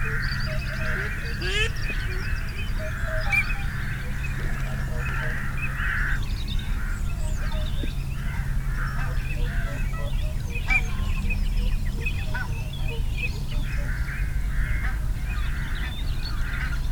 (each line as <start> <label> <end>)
0.0 canada geese 7.6
0.0 barnacle geese 16.9